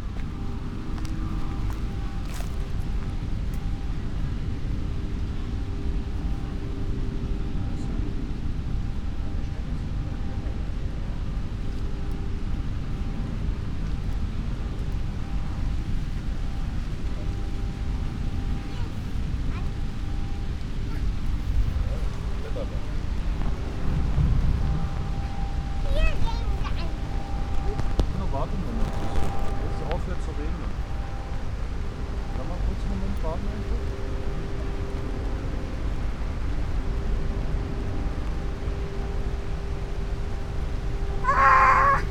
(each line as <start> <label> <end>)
0.0 winds 42.1
41.2 screams of people 42.1